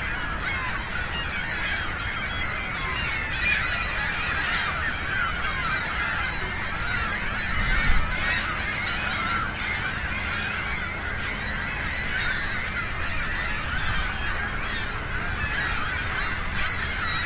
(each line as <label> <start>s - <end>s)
Large Group of Seagulls 0.0s - 17.2s